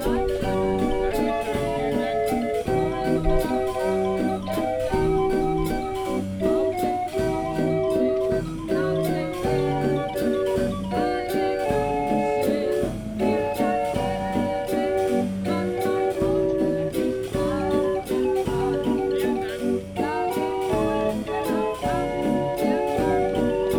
solid-state hurdy-gurdy 0.0 - 23.7

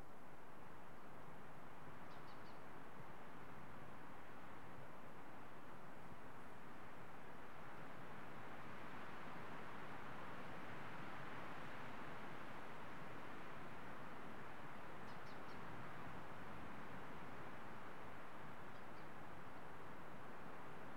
windy day 0.0 - 20.9

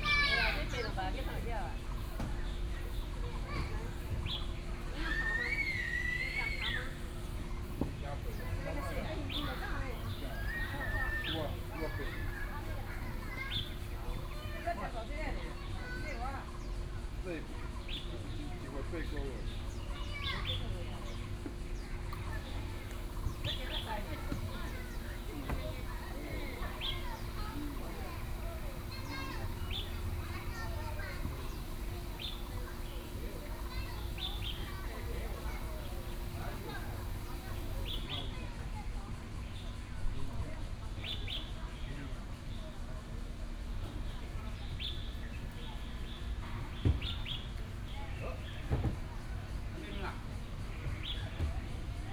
Child 0.0 - 0.8
Child 24.2 - 36.0

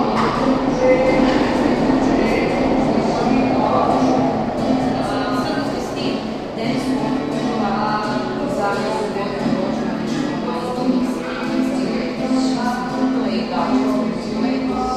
two women talking 0.0 - 14.9
young guy playing and singing 0.0 - 14.9

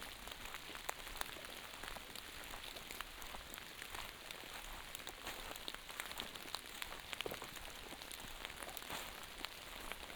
walking through a forest 0.3 - 10.1

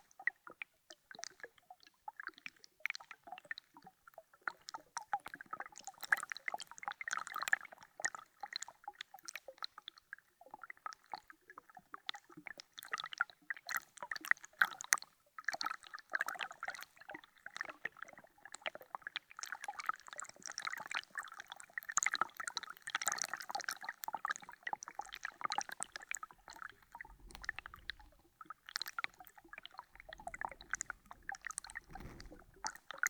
tiny ice of the river's edge 24.9 - 33.0

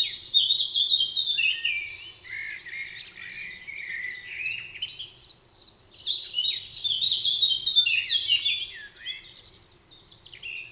Common blackbird 0.0 - 10.7
Common robin 0.0 - 10.7
Eurasian Blackcap 0.0 - 10.7

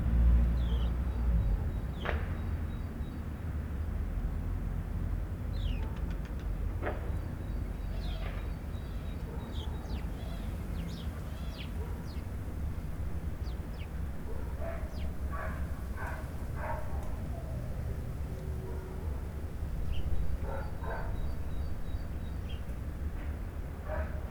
birds 0.2 - 24.3
dogs 9.1 - 12.2
dogs 14.2 - 19.4
dogs 20.4 - 21.5
dogs 23.8 - 24.3

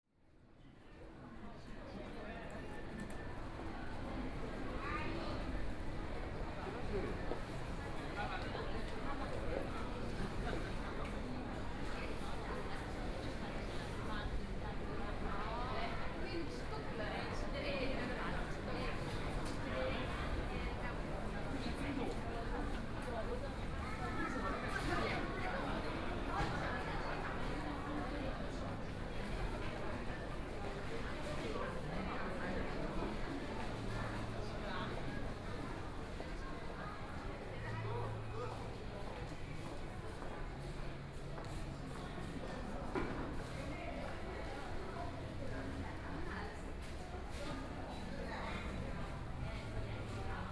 Walking in the station 0.2 - 50.5

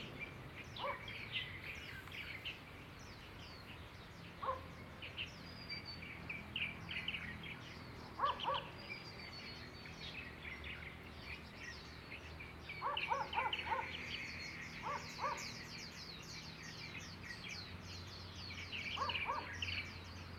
Bird 0.0 - 20.3
Dog 0.8 - 1.0
Dog 4.4 - 4.7
Dog 8.2 - 8.7
Dog 12.8 - 14.0
Dog 14.8 - 15.5
Dog 19.0 - 19.6

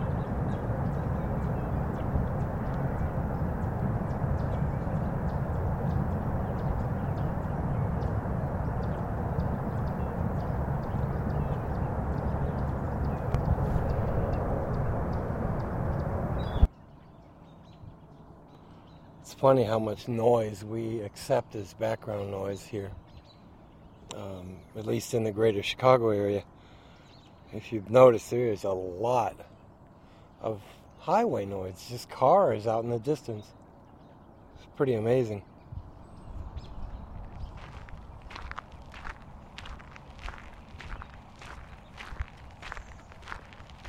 Birds 0.0 - 43.8
wind 0.0 - 43.8

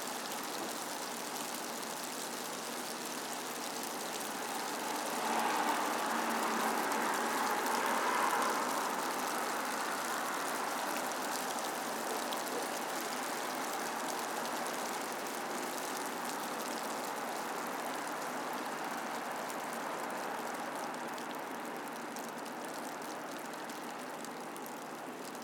Light hail 0.0 - 25.4
Distant traffic 4.2 - 13.6

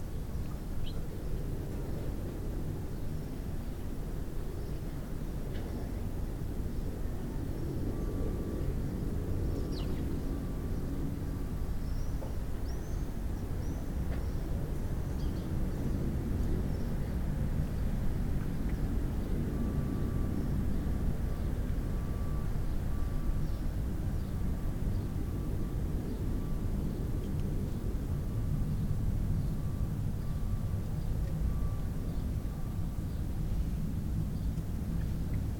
sparrow singing 0.1 - 1.4
sparrow singing 8.0 - 16.0
sparrow singing 23.3 - 25.4
sparrow singing 28.7 - 33.4

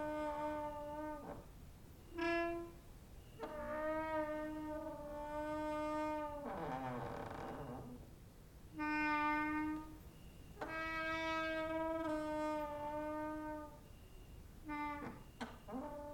creaking with wooden doors 0.0 - 1.5
creaking with wooden doors 2.1 - 8.1
creaking with wooden doors 8.7 - 16.1

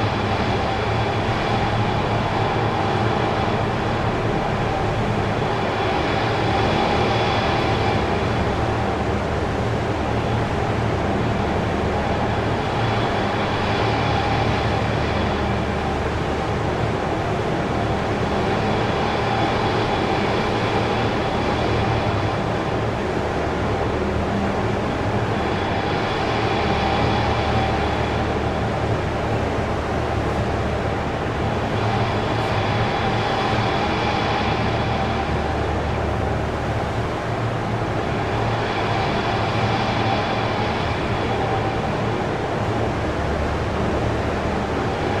pump sounds of the city water supply 0.0 - 45.2

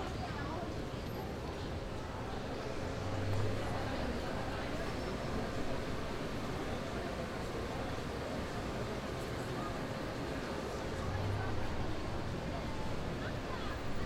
people walk around 0.0 - 14.0

